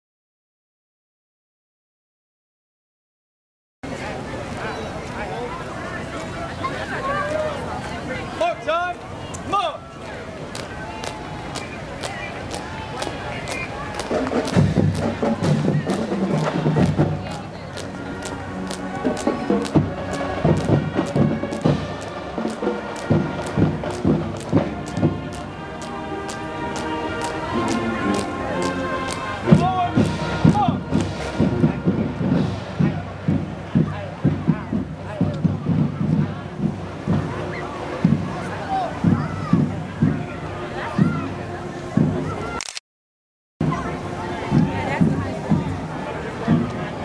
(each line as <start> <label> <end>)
3.8 soldiers 42.6
9.2 drums 42.6
18.6 police sirens 30.9
43.6 drums 47.0
43.6 soldiers 47.0